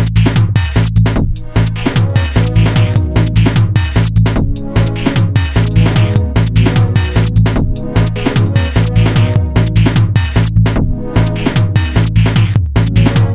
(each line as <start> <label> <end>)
0.0 Bass 13.3
0.0 Electric Drums 13.3
0.0 Synthesizer 13.3